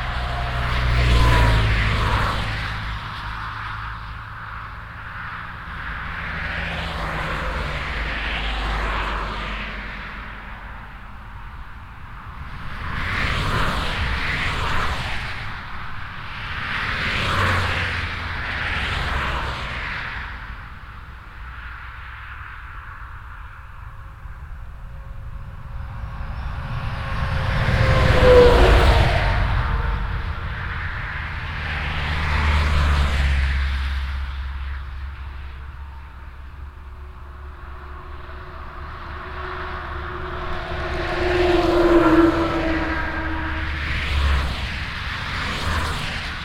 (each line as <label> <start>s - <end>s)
Traffic on the highwaylike E 421 0.0s - 46.4s